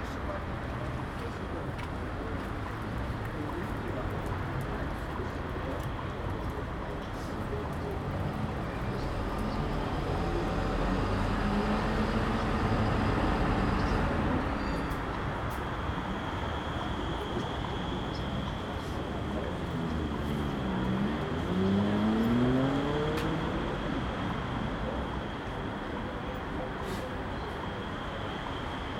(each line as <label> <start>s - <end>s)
Voices 0.0s - 28.9s
buses 0.0s - 28.9s
cars 0.0s - 28.9s
tram doors warn bleeping before closing 13.8s - 15.1s